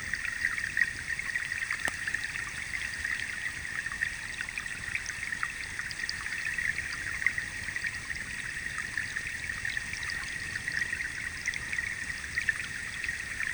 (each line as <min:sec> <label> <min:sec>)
0:00.0 river 0:13.5